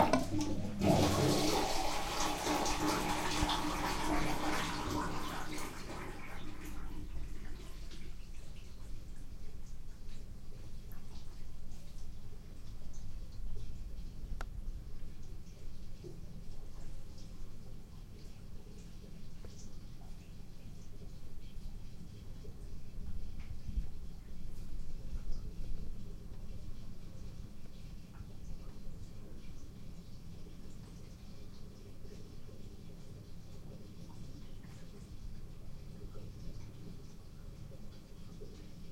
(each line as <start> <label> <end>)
0.0 Draining water from free-standing bathtub 38.9